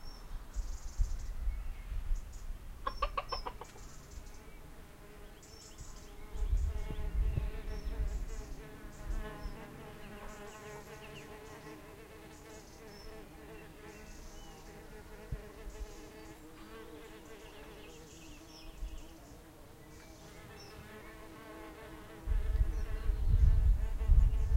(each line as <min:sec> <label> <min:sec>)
0:00.0 birdsong 0:24.5
0:02.8 chickens 0:04.1
0:03.4 bees 0:24.5